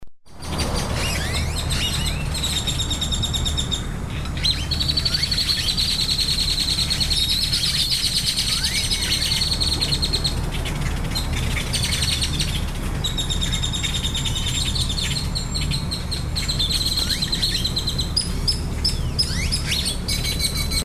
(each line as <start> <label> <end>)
0.3 traffic 20.8
0.3 trees 20.8
0.4 birds 20.8